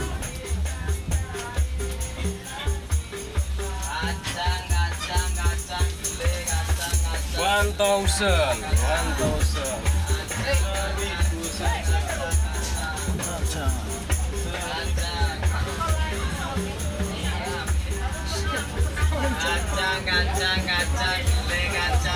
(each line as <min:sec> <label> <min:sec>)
0:00.0 Lowcost Train 0:22.1
0:00.0 Peanuts Vendors 0:22.1
0:00.0 Upright Bass 0:22.1
0:00.0 percussions 0:22.1